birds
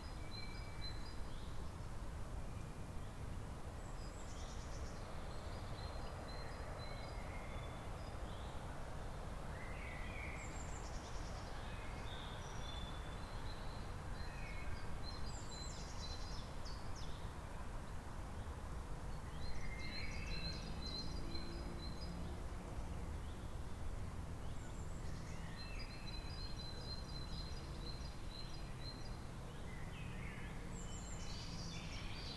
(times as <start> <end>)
24.4 32.3